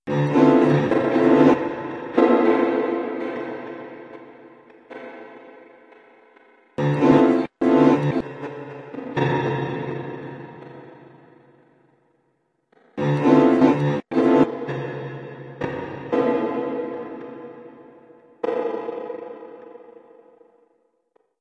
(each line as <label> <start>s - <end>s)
Piano hit processed with large, reverbed granulator chunks 0.1s - 6.0s
Piano hit processed with large, reverbed granulator chunks 13.0s - 20.7s